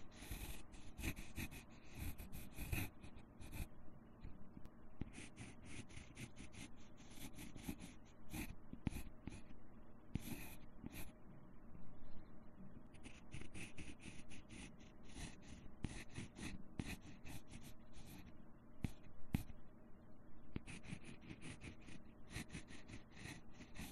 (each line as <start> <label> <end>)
0.0 Writing on cardboard with a pencil 4.4
5.0 Writing on cardboard with a pencil 11.2
12.8 Writing on cardboard with a pencil 19.6
20.6 Writing on cardboard with a pencil 23.9